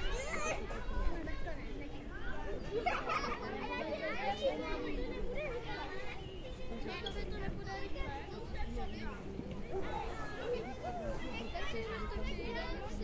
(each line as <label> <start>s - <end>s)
Kids in the playground 0.0s - 13.0s